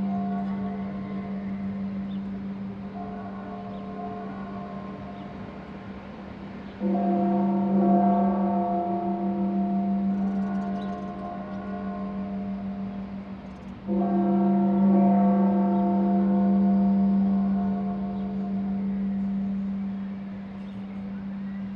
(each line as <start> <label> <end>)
0.0 Noontide Bells 21.7